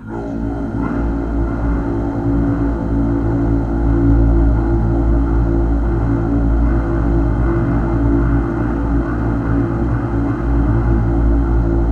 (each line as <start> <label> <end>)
0.0 Male Vocal Drone 3.0